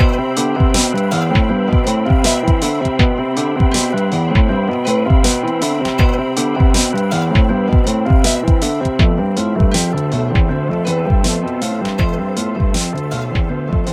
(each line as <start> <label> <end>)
0.0 Synth Beat 13.9